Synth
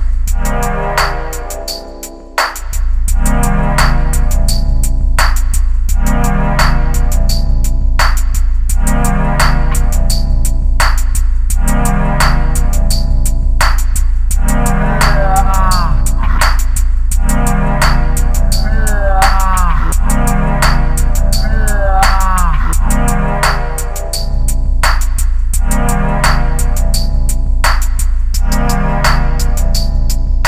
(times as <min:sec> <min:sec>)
0:03.1 0:04.9, 0:05.9 0:07.8, 0:08.8 0:10.5, 0:14.4 0:16.6, 0:17.2 0:24.6